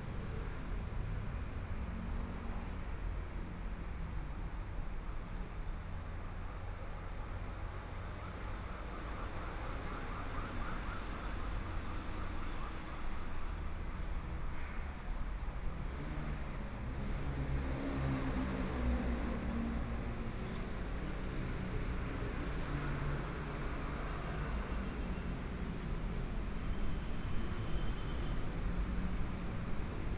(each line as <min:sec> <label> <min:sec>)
0:00.0 Traffic Sound 0:04.6